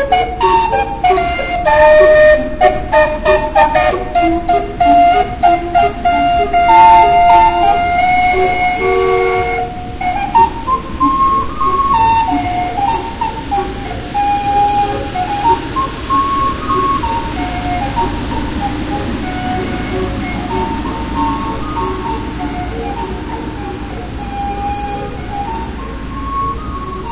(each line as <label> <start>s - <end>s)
mobile steam calliope 0.0s - 27.1s
nearby car stereos play 0.0s - 27.1s
sweeping noise of two city street cleaners 0.0s - 27.1s